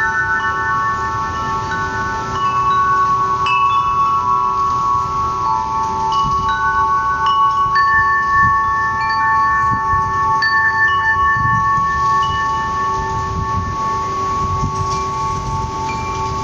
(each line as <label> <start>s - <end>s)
wind 0.0s - 16.4s
wind chimes 0.0s - 16.4s